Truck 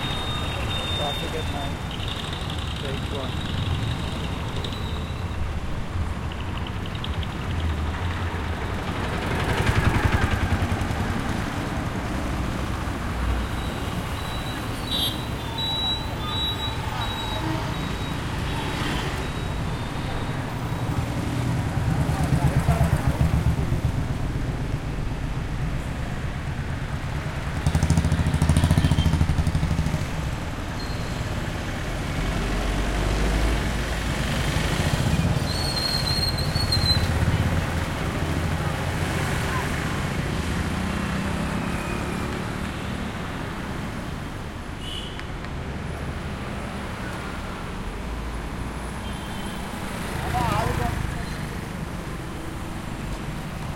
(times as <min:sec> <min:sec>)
0:27.4 0:44.4